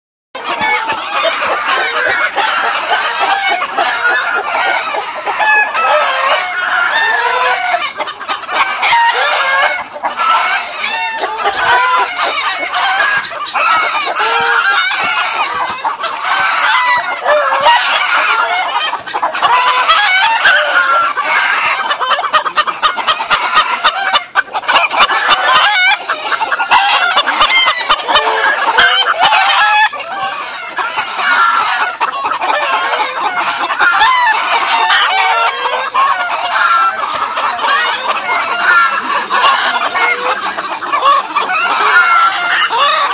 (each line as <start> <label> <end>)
0.4 rooster 43.1